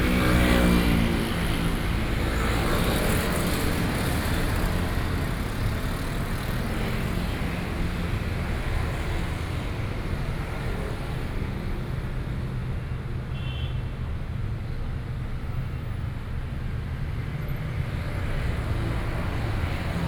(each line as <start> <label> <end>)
0.0 Traffic Noise 20.0